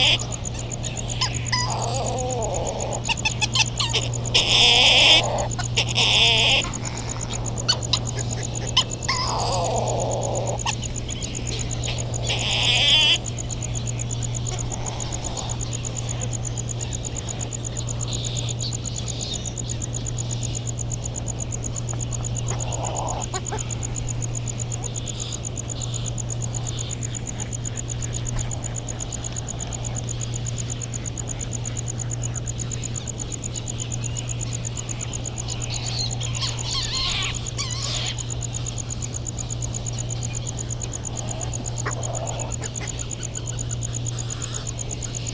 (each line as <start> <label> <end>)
0.0 calls from white terns 17.0
0.0 flight calls and calls from bonin petrels 20.4
0.0 a cricket ticks away the seconds 45.3
0.0 calls and bill clapperings from laysan alabatross 45.3
21.6 flight calls and calls from bonin petrels 45.3
22.3 calls from white terns 24.1
35.0 calls from white terns 45.3